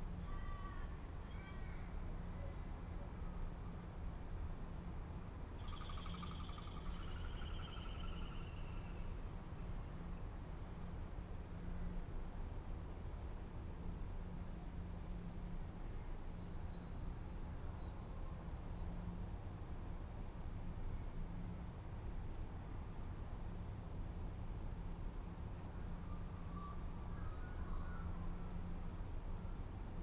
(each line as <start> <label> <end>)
0.2 ravens 2.5
4.7 distant traffic 23.9
5.6 ravens 8.9
5.6 blue wren 9.2
26.0 ravens 28.5